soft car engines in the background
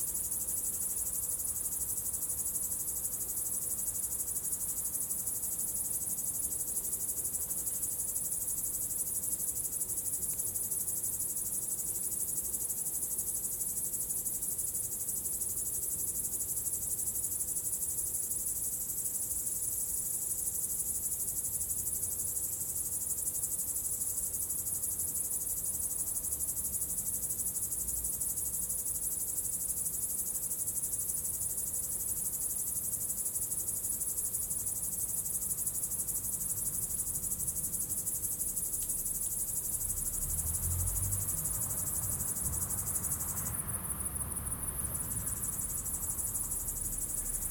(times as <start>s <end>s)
38.5s 47.5s